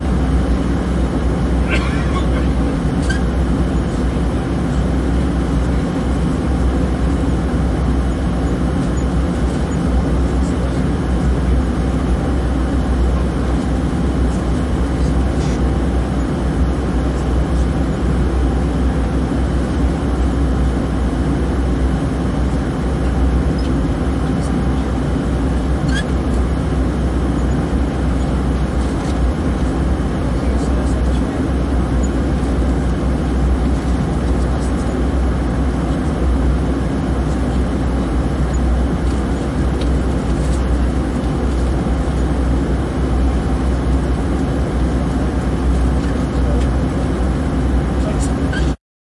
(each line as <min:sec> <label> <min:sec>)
0:00.0 Aeroplane 0:48.8